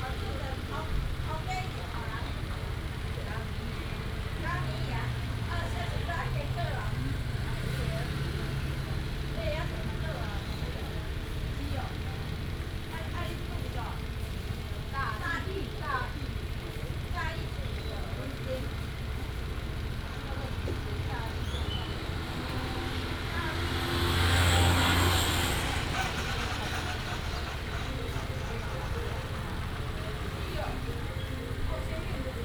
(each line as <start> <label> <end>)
0.0 traffic sound 32.4